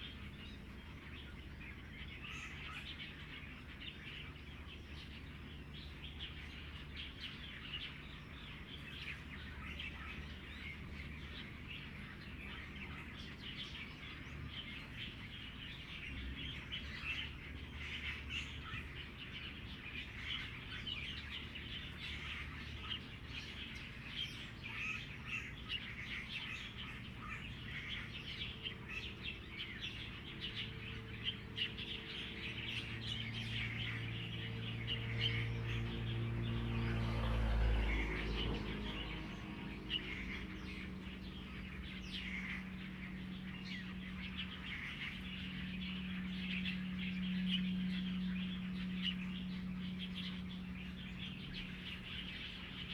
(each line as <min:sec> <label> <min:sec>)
0:00.0 Birdsong 0:52.9
0:24.7 Traffic Sound 0:52.9